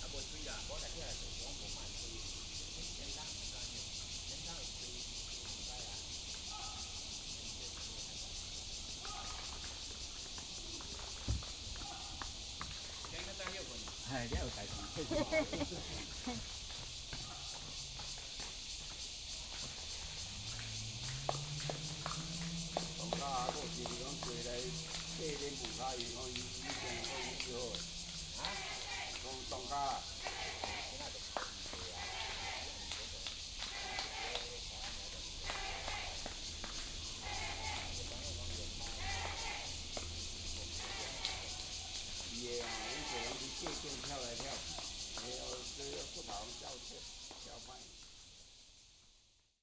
Frogs chirping 0.0 - 49.1
Cicadas cry 0.0 - 49.6

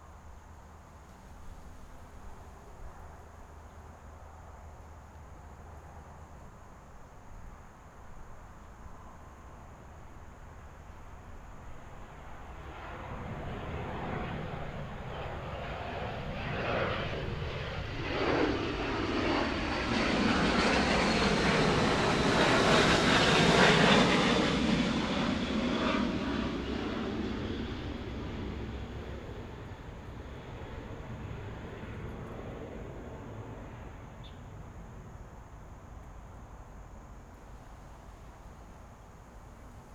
Fighter flight traveling through 12.1 - 34.7

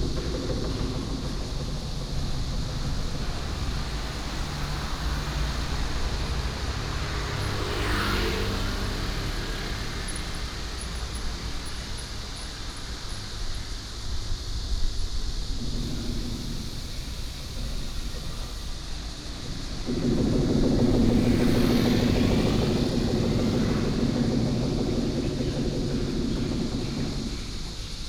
Viaduct construction 0.0 - 28.0
traffic sound 0.0 - 28.0

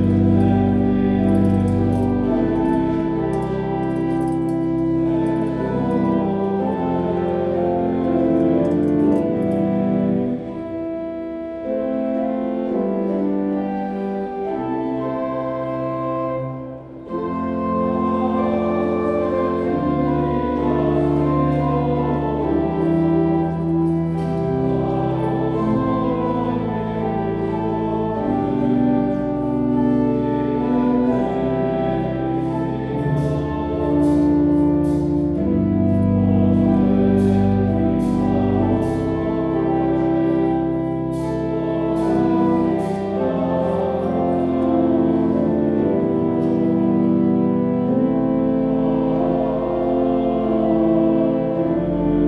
daily chanting 0.0 - 11.0
daily chanting 11.6 - 52.2

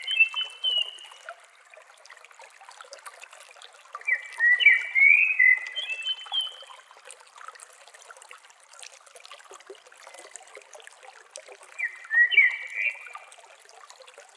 Simple Valley Stream Water Sounds 0.0 - 14.3
Bird Singing 0.0 - 1.0
Bird Singing 4.1 - 6.6
Bird Singing 11.8 - 13.2

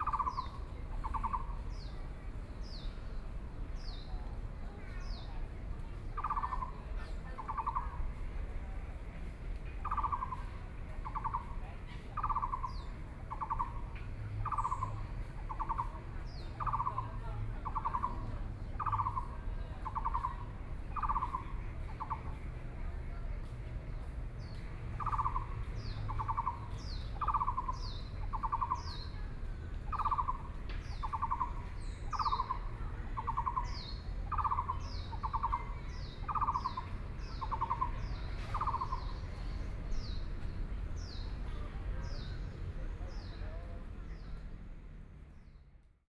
Birdsong 24.4 - 29.2
Birdsong 29.9 - 42.4

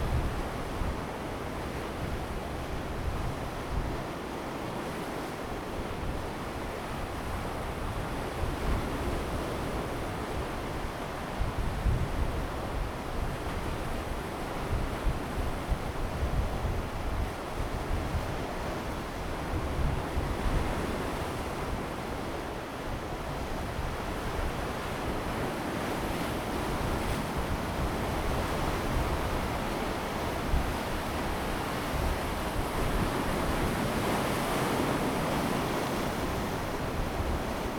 the sea washes the shore 0.0 - 37.7
wind 0.0 - 37.7

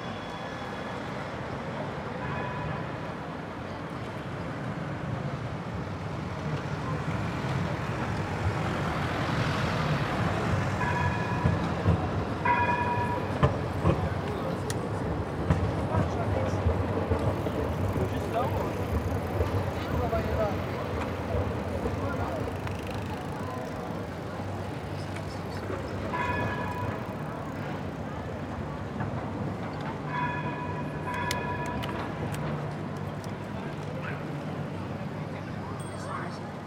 Trams 0.0 - 36.6
bikers 0.0 - 36.6
skaters 6.4 - 35.6

